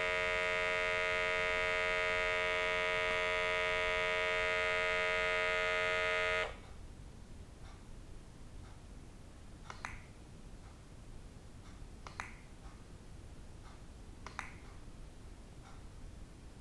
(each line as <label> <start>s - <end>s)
blood pressure meter for long term ECG 0.0s - 6.8s